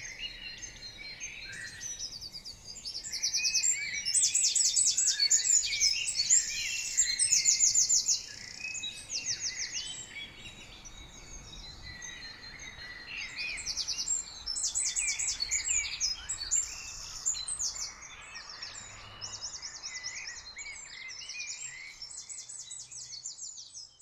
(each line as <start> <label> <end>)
0.0 greenfinch 23.2
0.0 Common chaffinch 24.0
0.0 blackbird 24.0
0.0 european robin 24.0